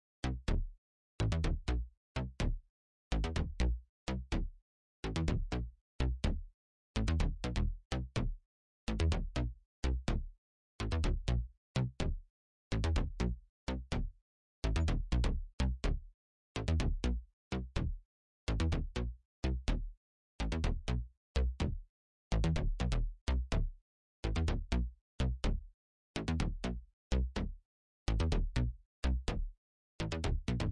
sint bass 30.0 - 30.7

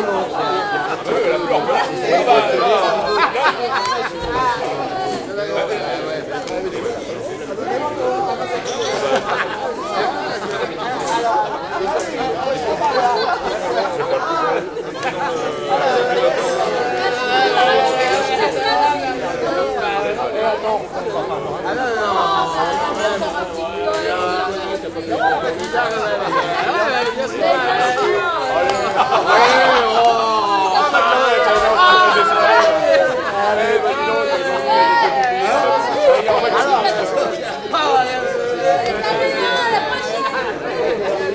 noisy discussions 0.0 - 41.3
Laughter 2.3 - 4.6
Laughter 8.9 - 17.1
Laughter 25.4 - 35.0

